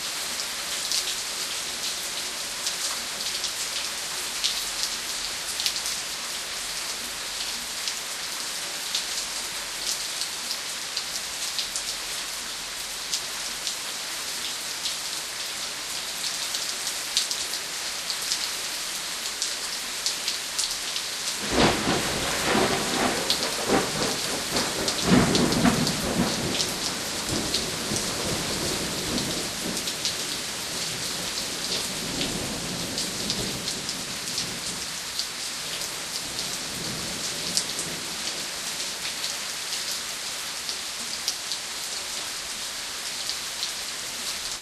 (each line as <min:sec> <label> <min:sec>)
0:00.0 Rain on the patio 0:44.6
0:21.4 thunder 0:29.8